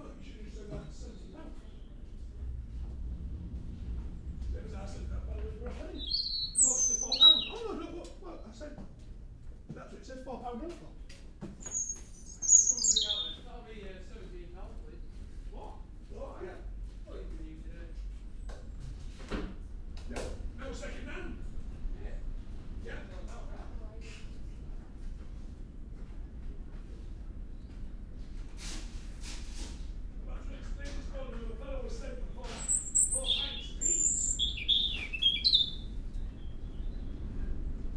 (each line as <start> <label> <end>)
0.0 voices 18.7
5.5 resident robin singing 7.9
11.6 resident robin singing 13.5
20.0 voices 24.7
30.1 voices 37.7
32.3 resident robin singing 37.2